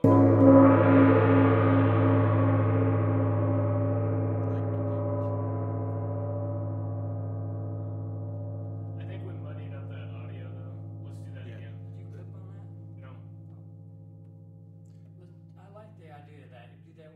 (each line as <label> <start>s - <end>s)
medium-loud gong strike 0.0s - 14.8s